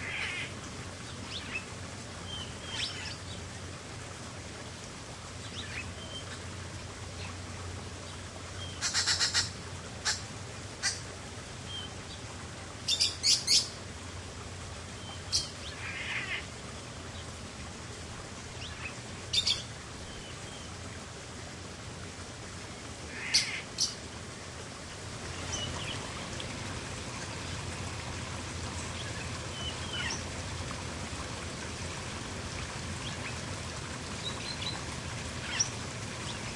various starlings 0.0 - 0.5
small stream 0.0 - 36.5
various starlings 2.3 - 3.4
various starlings 8.6 - 10.2
various starlings 15.0 - 16.5
various starlings 23.1 - 24.0
various starlings 28.9 - 30.3
various starlings 35.4 - 36.5

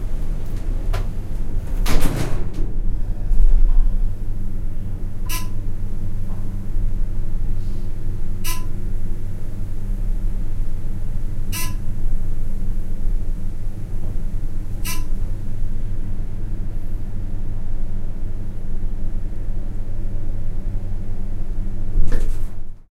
doors 0.0 - 4.0
elevator ride up 0.0 - 22.9
buzzer 5.3 - 5.6
buzzer 8.5 - 8.8
buzzer 11.5 - 11.8
buzzer 14.8 - 15.2

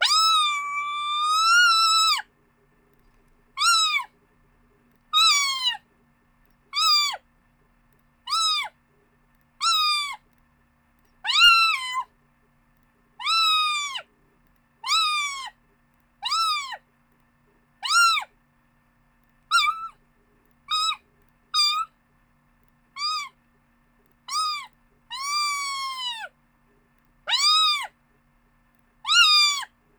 kitten meowing 0.0 - 2.2
kitten meowing 3.6 - 4.1
kitten meowing 5.2 - 5.8
kitten meowing 6.8 - 7.2
kitten meowing 8.3 - 8.7
kitten meowing 9.6 - 10.2
kitten meowing 11.3 - 12.1
kitten meowing 13.2 - 14.0
kitten meowing 14.8 - 15.5
kitten meowing 16.2 - 16.8
kitten meowing 17.8 - 18.3
kitten meowing 19.5 - 20.0
kitten meowing 20.7 - 21.0
kitten meowing 21.6 - 21.9
kitten meowing 23.0 - 23.3
kitten meowing 24.3 - 26.3
kitten meowing 27.3 - 27.9
kitten meowing 29.1 - 29.7

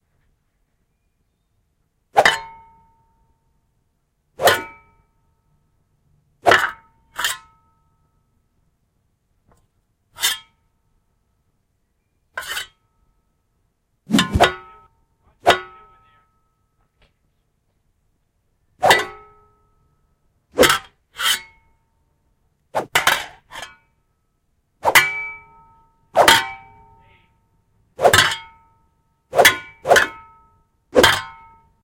whooshes 14.1 - 14.5
Fighting with shovels 14.1 - 14.8

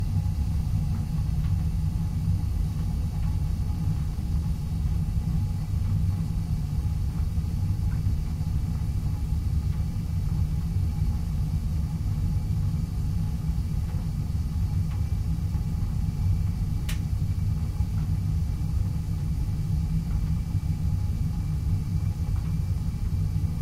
gas water heater at work 0.0 - 23.6

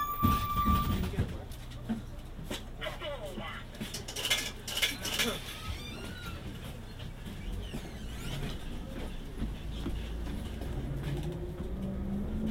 the doors open and close 0.0 - 1.4
bus noise 0.0 - 12.5
people get on the bus and get off the bus 0.0 - 12.5
the doors open and close 4.2 - 8.8

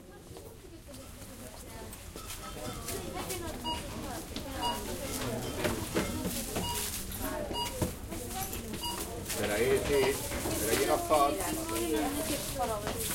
people working and people buying 0.0 - 13.1
footsteps 4.2 - 13.1

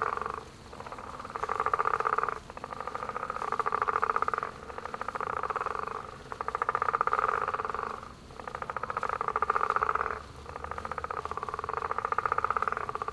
Crickets 0.0 - 13.1
Frogs 0.0 - 13.1
Water 0.0 - 13.1

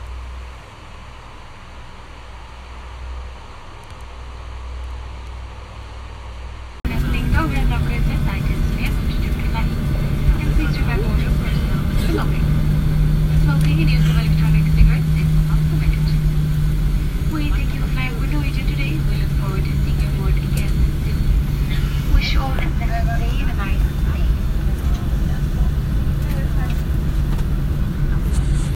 engine hum 0.0 - 28.7
muffled announcements 6.8 - 28.7
cabin noise 6.9 - 28.7

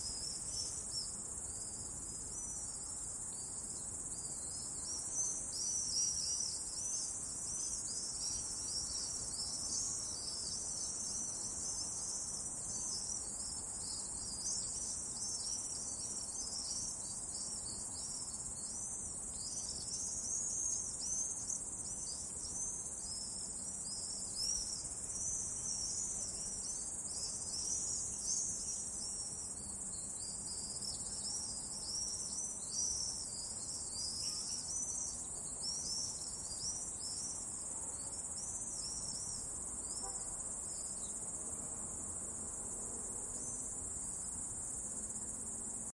Swallows Hunting Insects 0.0 - 45.9

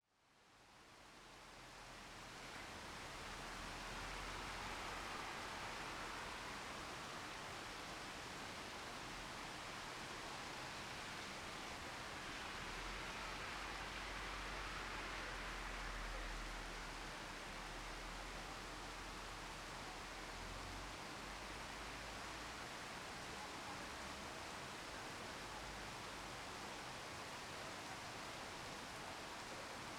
cars passing by in the wet street 1.4 - 29.9
heavy rain 1.5 - 29.9

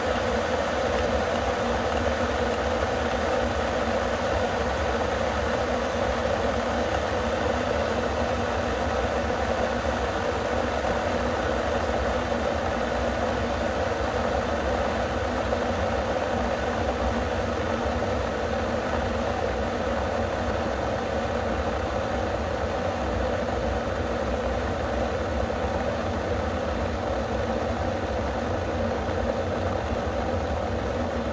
electric water boiler heating up 0.0 - 31.3

